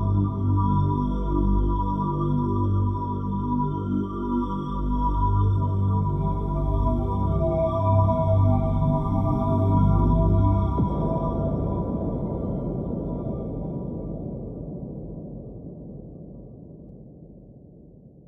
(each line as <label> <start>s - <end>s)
drone 0.0s - 14.8s